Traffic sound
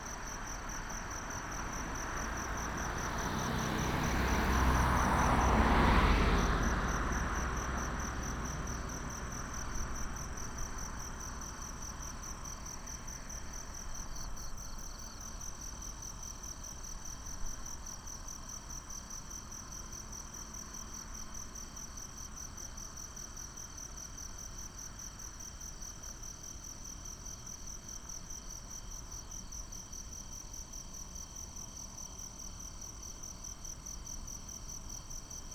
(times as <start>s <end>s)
0.1s 13.5s